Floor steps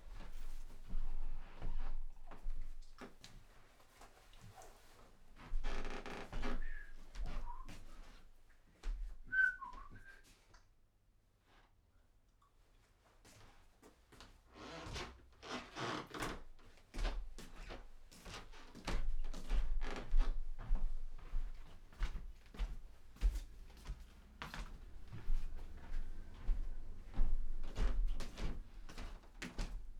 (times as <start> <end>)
5.4 10.1, 13.3 29.9